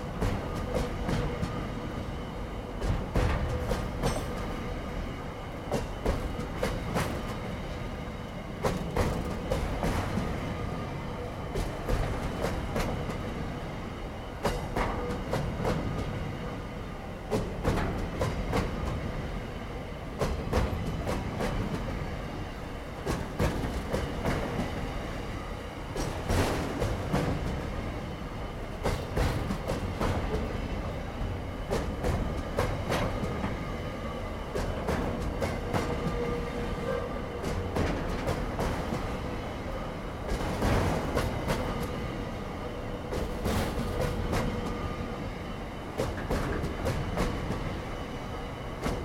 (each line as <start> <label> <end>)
0.0 Freight Train Rolling Past 49.0
20.2 sprinklers that spray the tracks 33.8